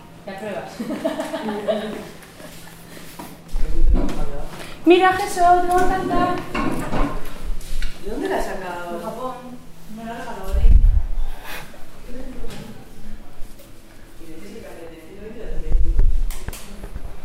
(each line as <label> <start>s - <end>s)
people talking 3.6s - 6.9s
people talking 12.0s - 16.0s